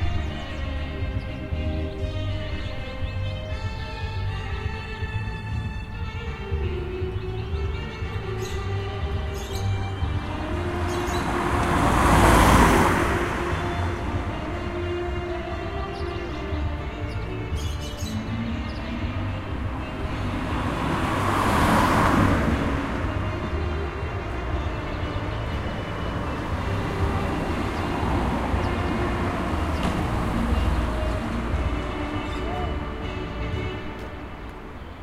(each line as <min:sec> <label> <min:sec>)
0:00.0 Gipsy street band 0:35.0
0:00.0 Traffic 0:35.0
0:00.0 birds 0:35.0
0:07.9 la trompeta 0:34.8